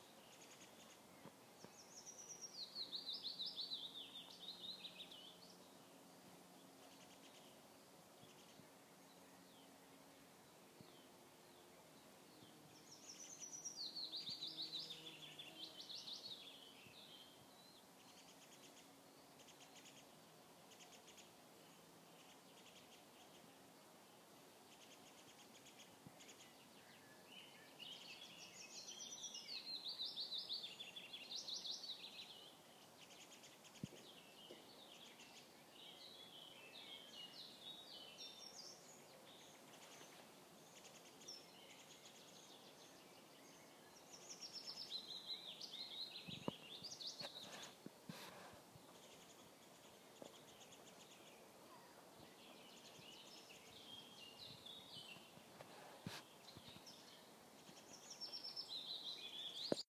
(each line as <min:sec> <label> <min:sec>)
0:00.0 Birds in a forest 0:59.8